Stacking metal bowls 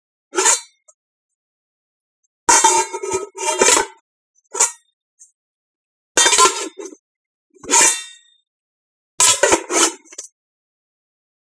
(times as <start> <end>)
6.2 7.0, 9.2 10.2